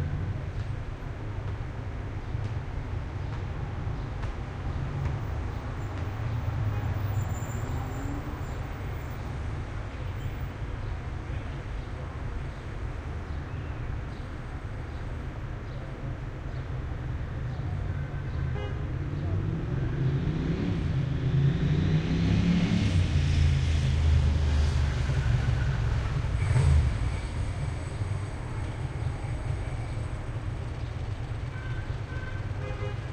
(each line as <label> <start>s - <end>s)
Heavy Traffic 0.0s - 33.1s